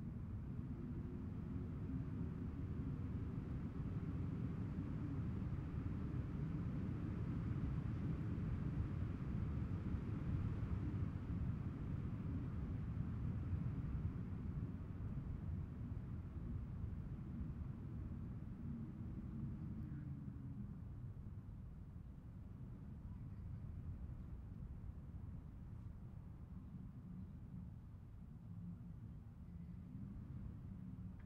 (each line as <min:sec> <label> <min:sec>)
0:00.0 Wind sound recorded through a small hole in a window 0:31.2